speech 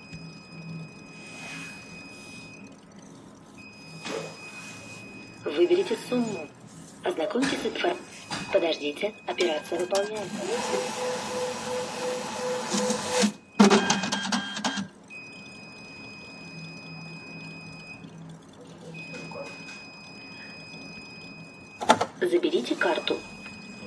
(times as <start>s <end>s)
5.5s 10.8s, 22.2s 23.3s